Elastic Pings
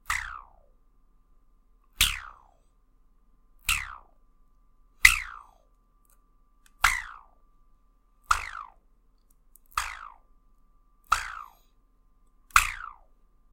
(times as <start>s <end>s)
0.0s 0.6s, 5.0s 7.4s, 8.2s 8.8s, 9.6s 10.3s, 11.0s 11.8s, 12.5s 13.2s